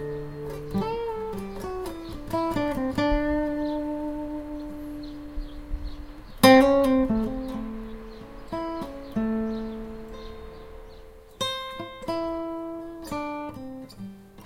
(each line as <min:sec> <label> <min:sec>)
0:00.0 improvise with my acoustic guitar 0:14.4